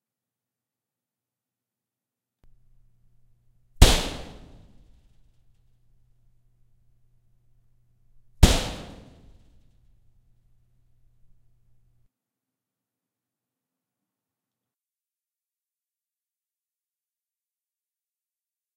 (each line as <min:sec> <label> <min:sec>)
0:03.8 punches to a perforated metal wall 0:06.3
0:08.1 punches to a perforated metal wall 0:11.9